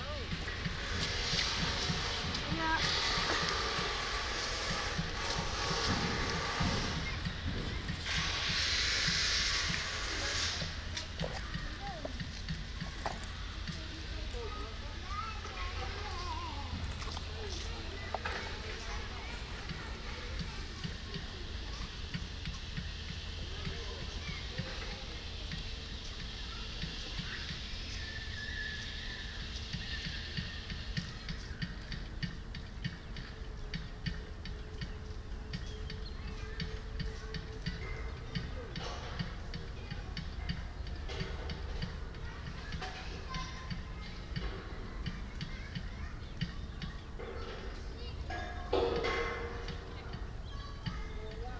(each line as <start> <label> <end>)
0.0 construction work 51.5
0.0 kids 51.5